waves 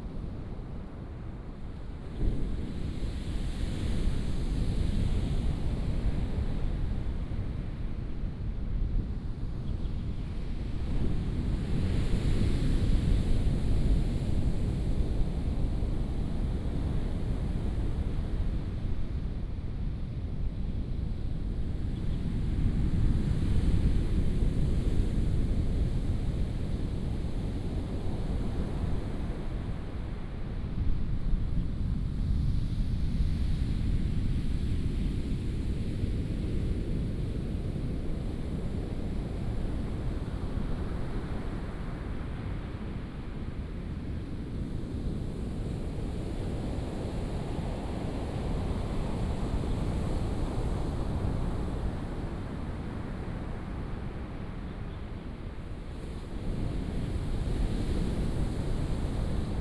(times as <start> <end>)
45.6 59.6